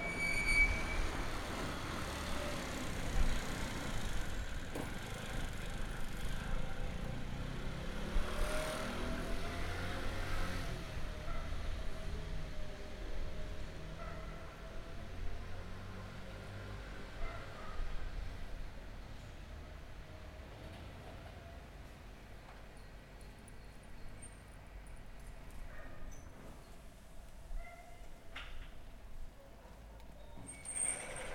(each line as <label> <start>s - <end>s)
slow moving bicycle 0.1s - 8.0s
Motorbikes and cars passing by 1.7s - 14.3s